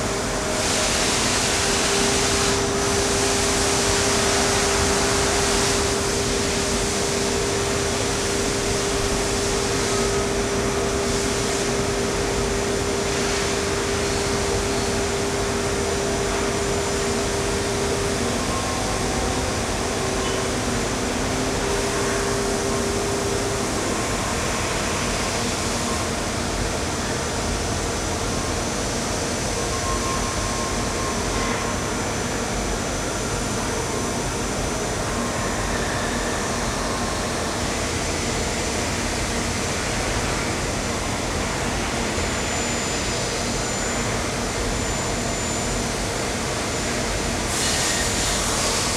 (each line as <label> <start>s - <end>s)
working factory building 0.0s - 48.9s